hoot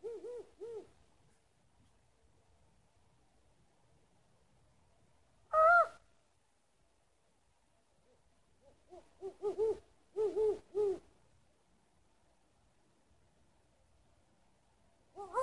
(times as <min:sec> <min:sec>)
0:00.0 0:00.9, 0:05.5 0:06.0, 0:08.6 0:11.0, 0:15.2 0:15.4